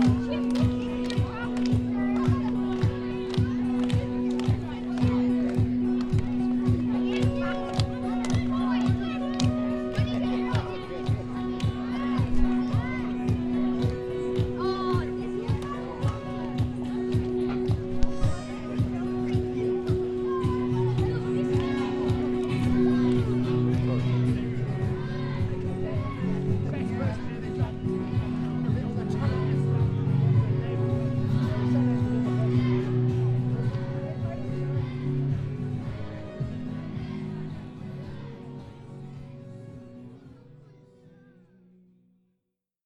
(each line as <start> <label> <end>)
0.0 Music 42.8